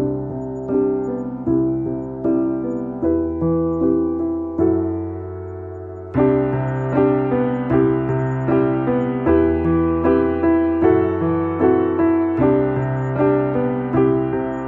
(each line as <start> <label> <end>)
0.0 Piano 14.6